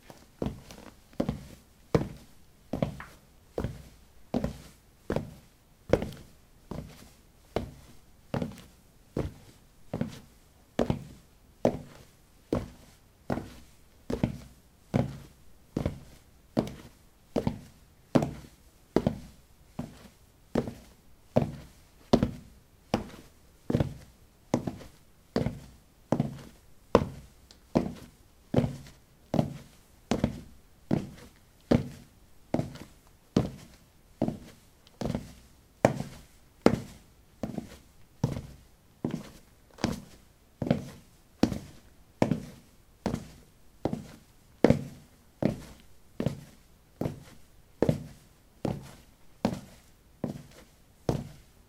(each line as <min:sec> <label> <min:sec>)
0:00.0 Walking on ceramic tiles 0:05.4
0:23.0 Walking on ceramic tiles 0:51.5